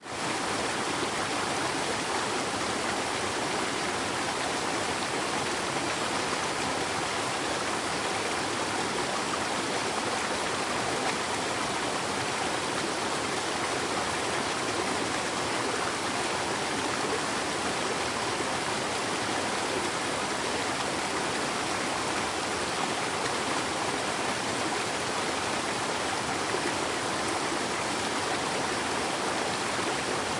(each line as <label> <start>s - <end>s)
river 0.0s - 30.3s
wind 0.0s - 30.3s